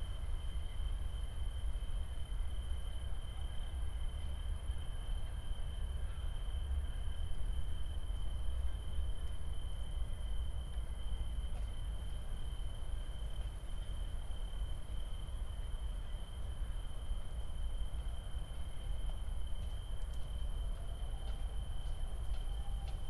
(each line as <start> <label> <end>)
0.0 trains 23.0
0.0 tree crickets 23.0